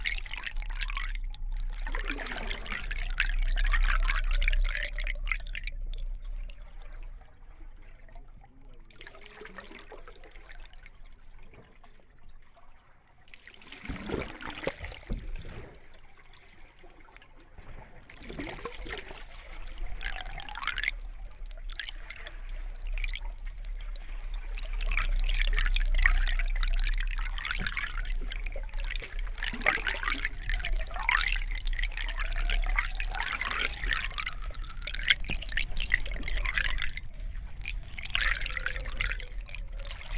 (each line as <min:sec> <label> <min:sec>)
0:00.0 dripping 0:12.3
0:18.0 dripping 0:40.1
0:18.2 gurgling 0:40.1